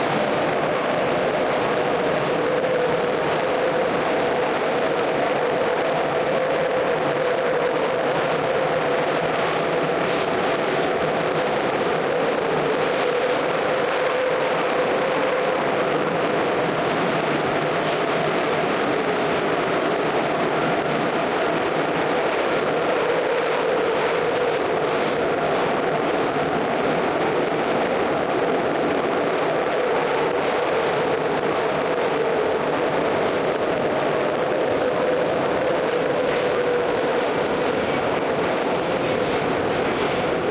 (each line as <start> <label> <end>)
0.0 metro 40.5